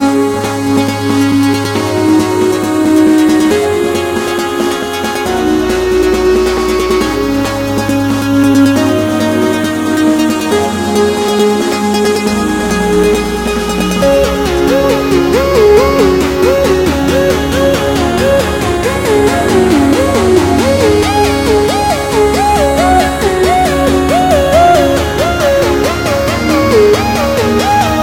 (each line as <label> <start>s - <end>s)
cheesy victory riff 11.8s - 28.0s